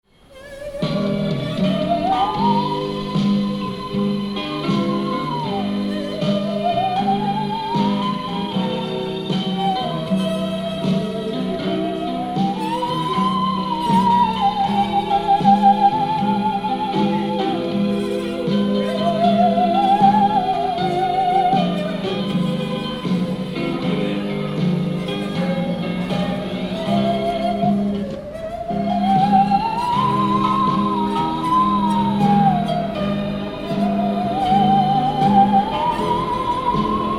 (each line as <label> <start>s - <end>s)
musician playing musical saw 0.1s - 37.1s